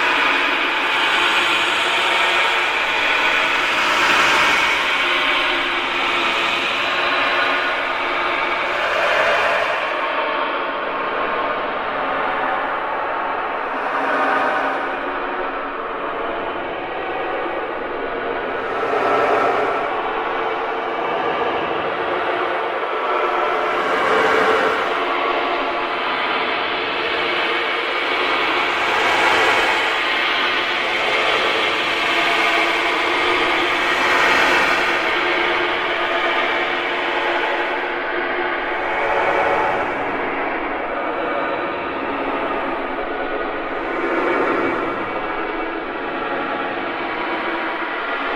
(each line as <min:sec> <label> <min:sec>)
0:00.0 Giant Pipes 0:48.3